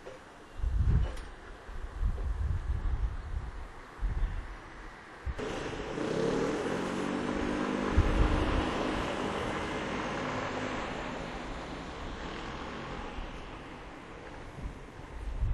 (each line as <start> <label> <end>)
5.3 passage of the unexpected train 15.5